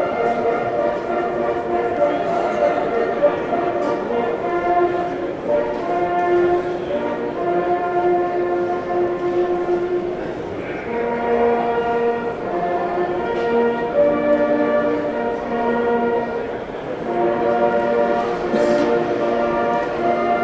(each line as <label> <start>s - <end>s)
jagdhörner 17.0s - 20.4s